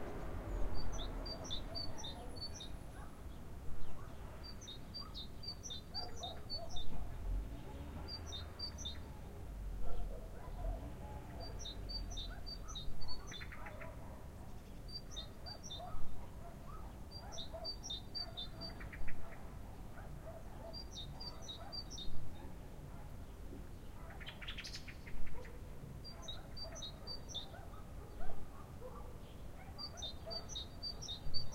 birds 0:00.0 - 0:31.5
dogs 0:05.9 - 0:23.2
dogs 0:24.0 - 0:24.4
dogs 0:25.2 - 0:31.5

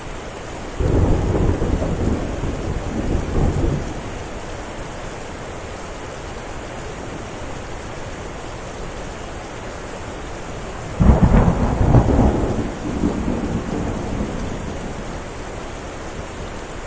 quickly increasing rain 0:00.0 - 0:16.8
extraordinarily loud cracks of lightning and booming thunder 0:00.8 - 0:04.0
extraordinarily loud cracks of lightning and booming thunder 0:10.9 - 0:15.2

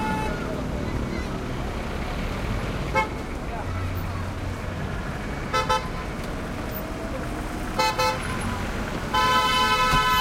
throaty cars motorcycles mopeds 0:00.0 - 0:10.2
horn honks2 0:09.1 - 0:10.2

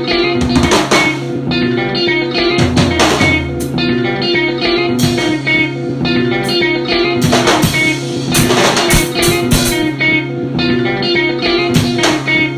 guitar 0:00.0 - 0:12.5

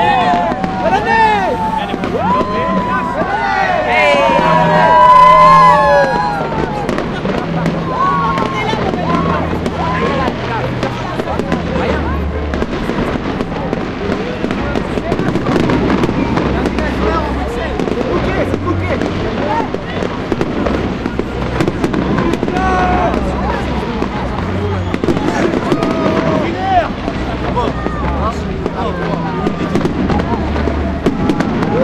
cheering 0:00.0 - 0:10.5
fireworks 0:00.0 - 0:31.8
cheering 0:21.6 - 0:31.8

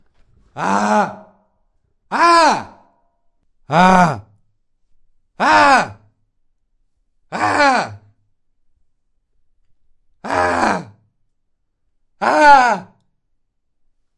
Young Male Screams 0:00.6 - 0:01.3
Young Male Screams 0:02.1 - 0:02.8
Young Male Screams 0:05.4 - 0:06.0
Young Male Screams 0:07.3 - 0:08.0
Young Male Screams 0:10.2 - 0:10.9
Young Male Screams 0:12.2 - 0:13.0

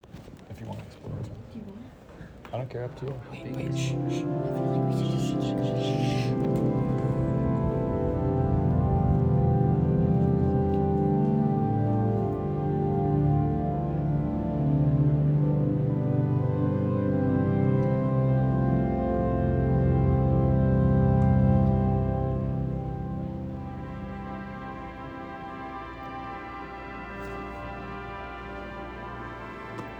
shushing 0:03.1 - 0:08.0
Church Organ 0:03.1 - 0:29.9

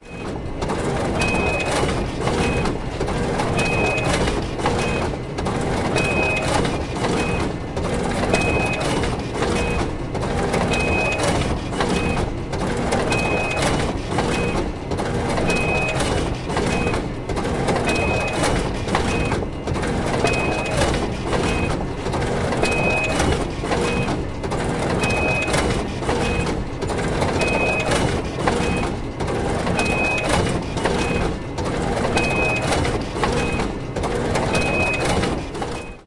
copy machine in operation 0:00.0 - 0:36.0

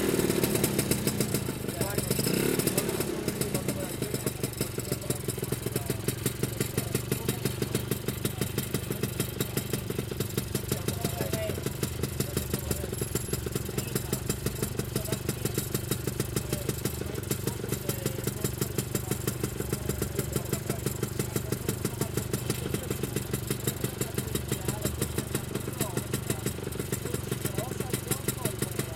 Vespa Piaggio ignition start 0:00.0 - 0:05.7

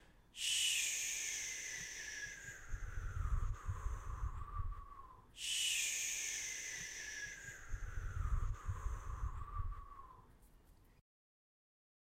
myself going woosh 0:00.4 - 0:10.2
wind 0:01.2 - 0:11.0

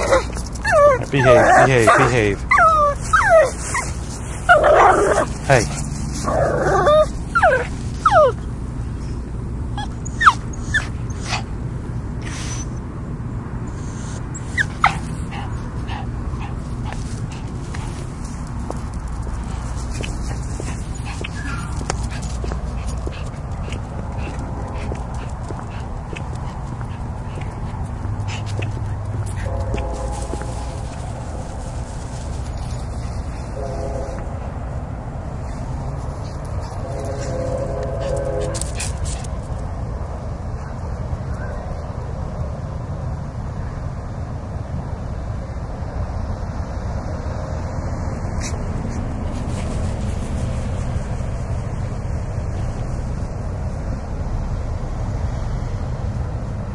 walkingdog 0:00.0 - 0:08.4
train 0:07.8 - 0:56.7
walkingdog 0:14.6 - 0:34.3
walkingdog 0:35.5 - 0:39.6

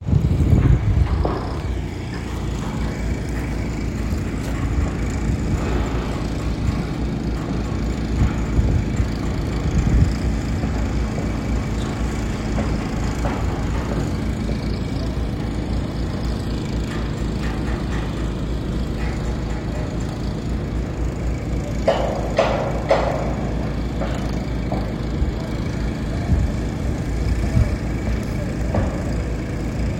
construction site building a building 0:00.0 - 0:29.9
trucks 0:00.0 - 0:29.9
saw 0:00.0 - 0:29.9

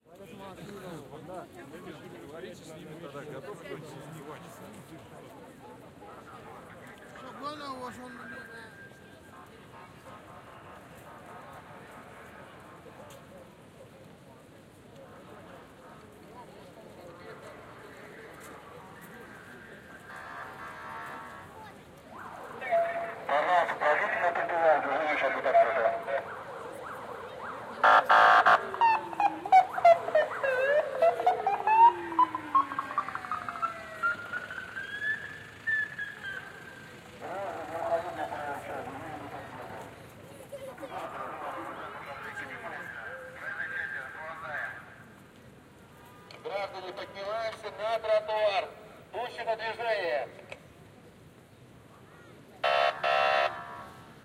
horn 0:52.6 - 0:53.9

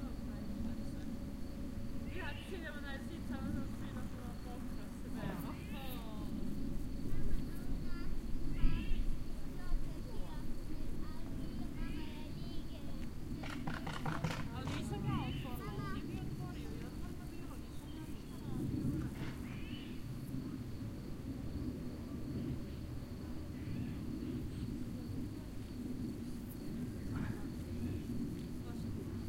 crickets 0:00.0 - 0:29.2
children 0:07.0 - 0:20.0
birds 0:13.4 - 0:20.2

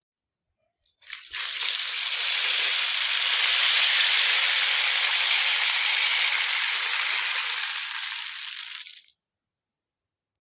rainstick 0:01.0 - 0:09.1

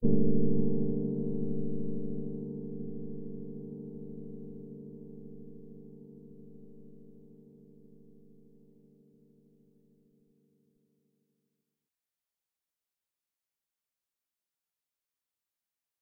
electric piano 0:00.0 - 0:10.6

